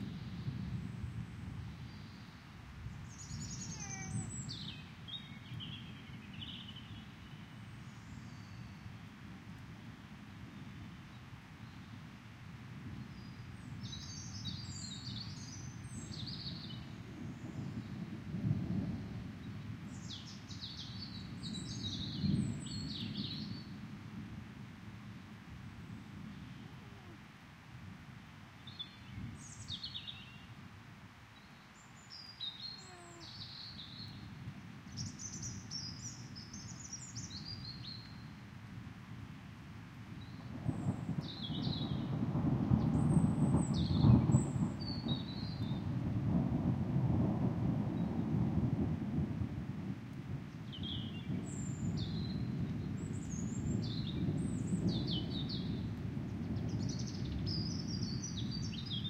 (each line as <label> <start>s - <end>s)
upcoming rainfall 0.0s - 59.0s
wind 0.0s - 59.0s
bird calls 3.2s - 7.4s
cat meow 3.7s - 4.3s
rolling thunder 12.8s - 24.6s
cat meow 26.6s - 27.2s
bird calls 32.2s - 34.2s
cat meow 32.8s - 33.3s
rolling thunder 40.4s - 59.0s